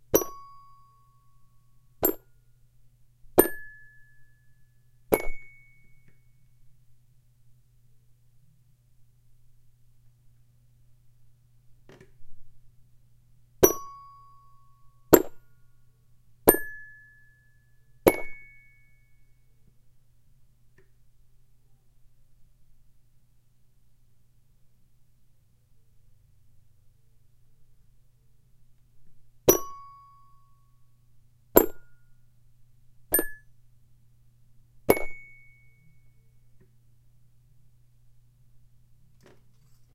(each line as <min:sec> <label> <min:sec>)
0:00.1 hits of a toy plastic piano 0:00.5
0:03.4 hits of a toy plastic piano 0:03.8
0:05.1 hits of a toy plastic piano 0:05.6
0:13.6 hits of a toy plastic piano 0:14.0
0:15.1 hits of a toy plastic piano 0:15.5
0:16.5 hits of a toy plastic piano 0:16.8
0:18.1 hits of a toy plastic piano 0:18.5
0:29.5 hits of a toy plastic piano 0:29.9
0:31.6 hits of a toy plastic piano 0:31.9
0:33.1 hits of a toy plastic piano 0:33.4
0:34.9 hits of a toy plastic piano 0:35.5